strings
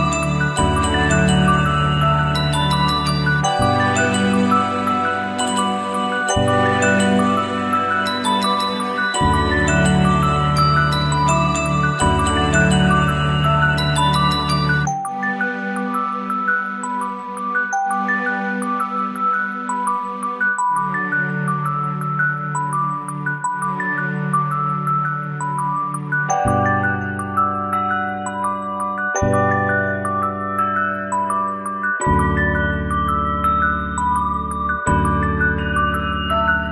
0.0s 28.2s

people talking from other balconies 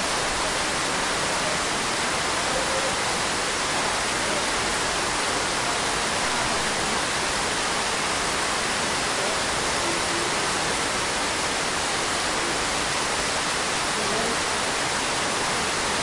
2.3s 3.3s

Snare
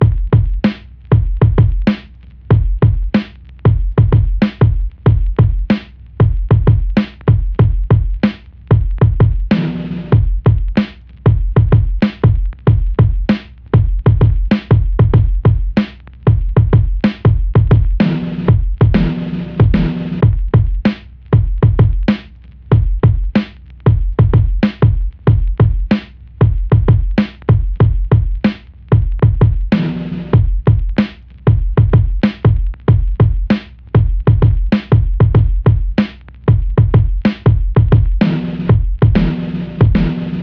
0.6s 1.0s, 1.8s 2.4s, 3.1s 3.6s, 5.7s 6.1s, 7.0s 7.3s, 8.2s 8.6s, 9.5s 10.1s, 10.8s 11.2s, 12.0s 12.3s, 13.3s 13.7s, 14.5s 14.8s, 15.8s 16.2s, 17.0s 17.2s, 18.0s 20.2s, 20.9s 21.2s, 22.1s 22.7s, 23.3s 23.8s, 24.6s 24.9s, 25.9s 26.3s, 27.2s 27.5s, 28.4s 28.8s, 29.7s 30.4s, 31.0s 31.4s, 32.2s 32.8s, 33.5s 33.9s, 34.7s 35.0s, 36.0s 36.4s, 37.2s 37.5s, 38.2s 40.4s

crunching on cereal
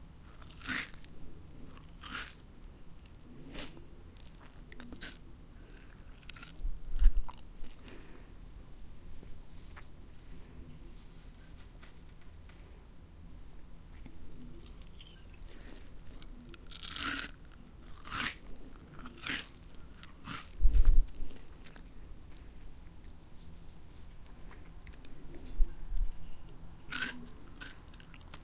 0.2s 8.2s, 14.3s 21.9s, 26.8s 28.4s

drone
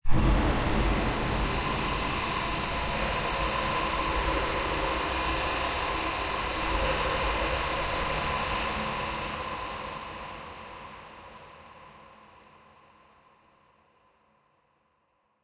0.0s 11.1s

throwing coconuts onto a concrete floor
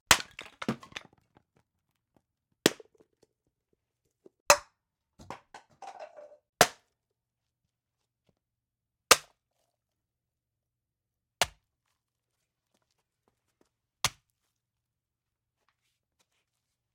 0.1s 1.4s, 5.2s 6.8s

